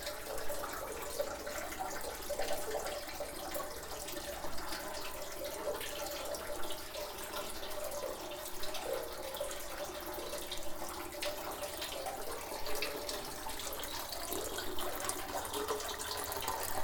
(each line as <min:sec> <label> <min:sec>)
0:00.0 inner fountain 0:16.8